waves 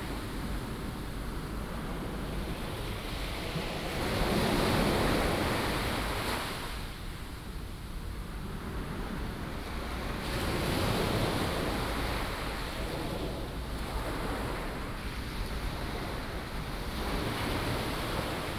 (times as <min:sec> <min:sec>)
0:08.9 0:18.5